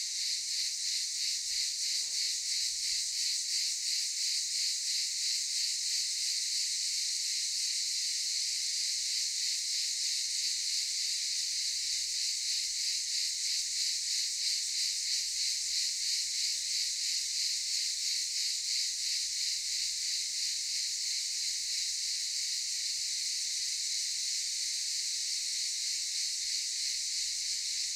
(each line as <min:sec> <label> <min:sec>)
0:00.0 Cicadas 0:27.9